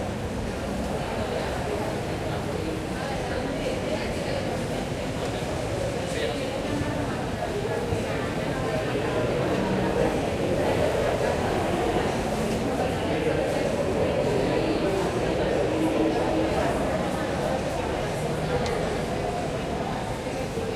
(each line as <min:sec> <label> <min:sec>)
0:07.3 Walla 0:20.7